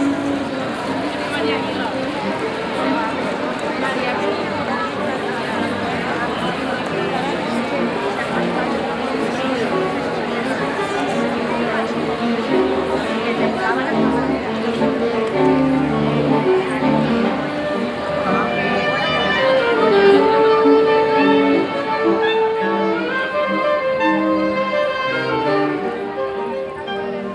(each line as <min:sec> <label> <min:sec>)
0:00.0 crowds of people strolling around and talking 0:27.3